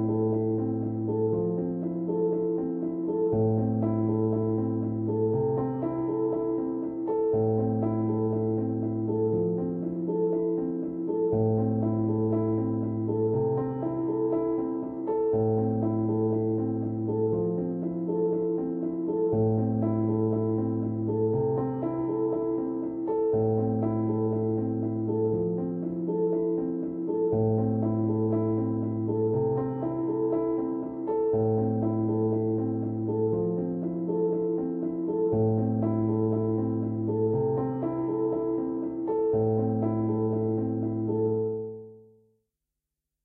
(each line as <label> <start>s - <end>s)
Piano 0.0s - 42.3s